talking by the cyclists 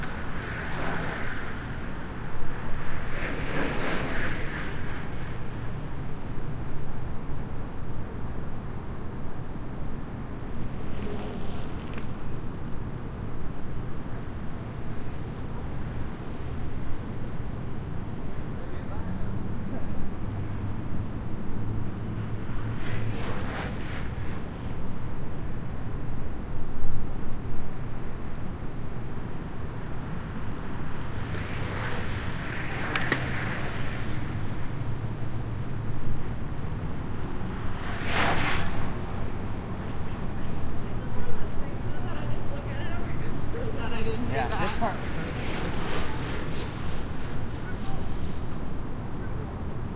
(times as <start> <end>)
40.0 48.5